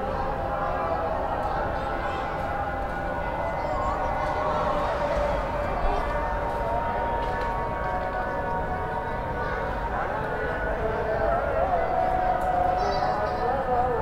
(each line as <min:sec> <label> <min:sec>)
0:00.0 prayer 0:14.0